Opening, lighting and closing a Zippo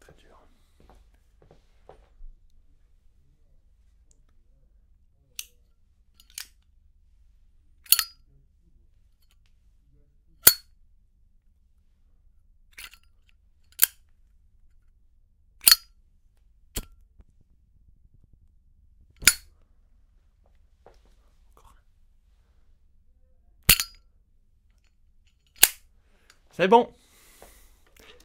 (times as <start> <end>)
6.2 6.7, 7.8 8.2, 12.7 14.1, 15.6 15.9, 19.2 19.5, 23.7 24.0, 24.8 26.4